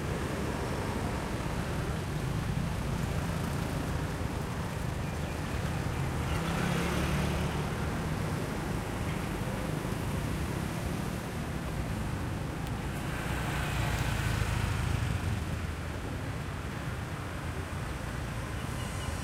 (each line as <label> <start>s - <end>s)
Motorbikes 0.0s - 19.2s
cars 0.0s - 19.2s